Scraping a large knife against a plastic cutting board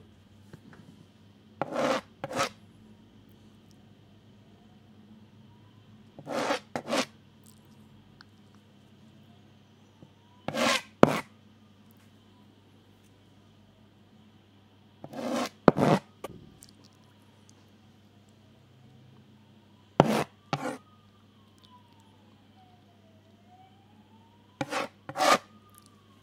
1.6s 2.6s, 6.2s 7.1s, 10.5s 11.3s, 15.0s 16.1s, 20.0s 20.8s, 24.6s 25.5s

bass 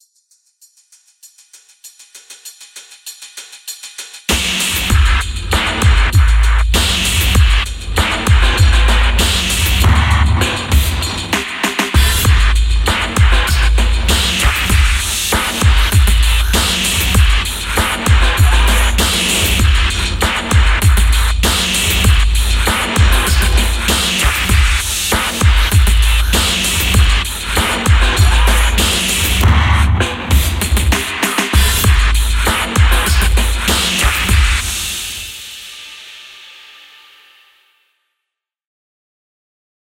4.3s 11.4s, 12.0s 31.0s, 31.6s 34.9s

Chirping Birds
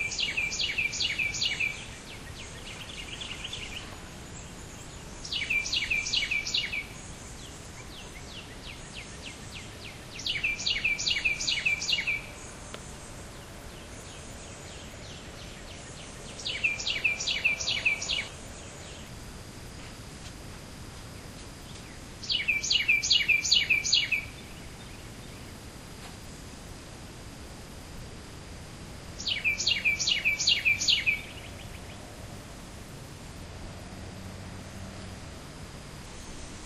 0.0s 12.4s, 13.0s 19.1s, 21.6s 25.6s, 29.2s 32.1s

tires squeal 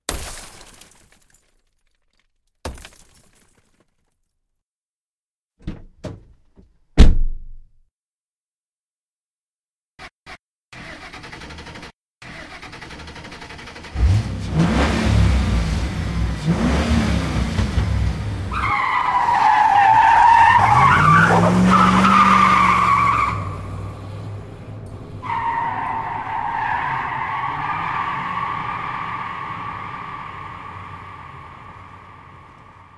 18.5s 24.0s, 25.1s 32.9s

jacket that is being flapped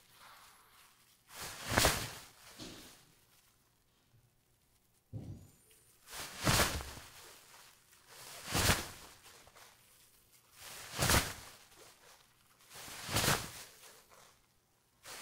0.0s 3.0s, 6.0s 14.4s

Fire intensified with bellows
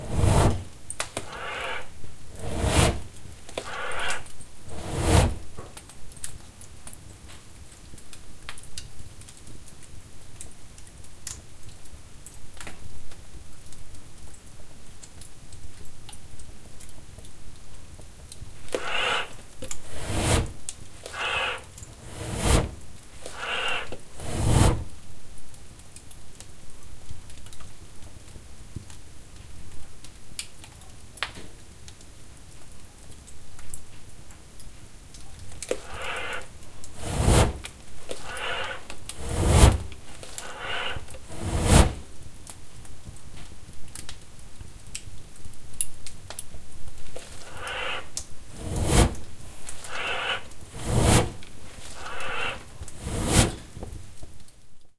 0.0s 0.8s, 1.4s 5.5s, 18.8s 24.9s, 35.7s 42.1s, 47.6s 53.8s

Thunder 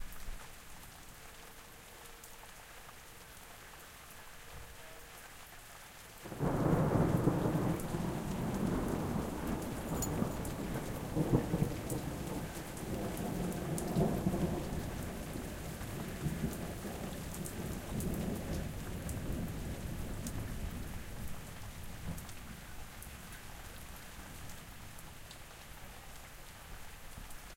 6.3s 21.3s

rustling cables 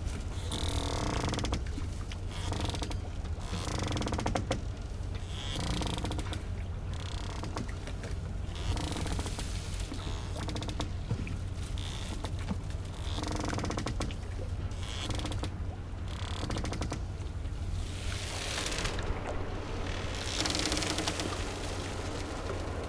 18.0s 22.8s

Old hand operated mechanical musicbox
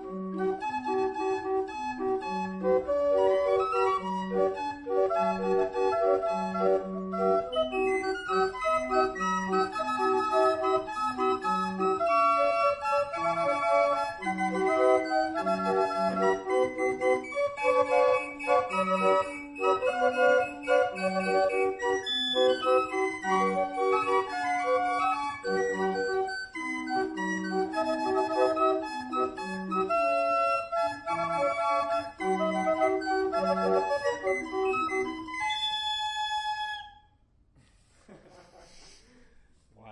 7.5s 31.1s

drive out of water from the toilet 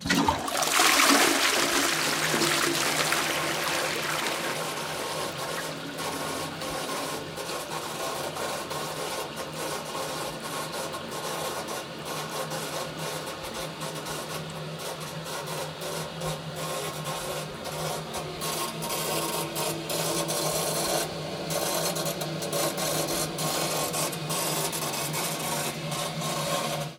0.0s 7.3s

